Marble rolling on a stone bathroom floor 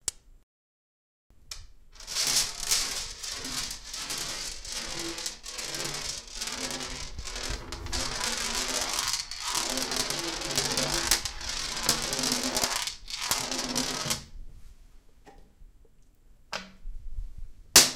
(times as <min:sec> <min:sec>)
0:02.0 0:14.4